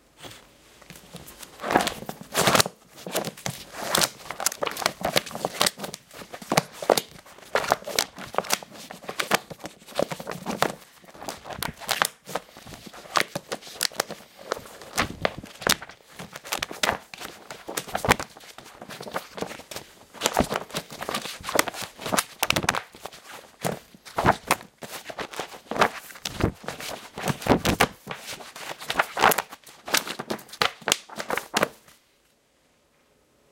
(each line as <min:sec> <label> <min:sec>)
0:00.2 Large book flipped through 0:32.0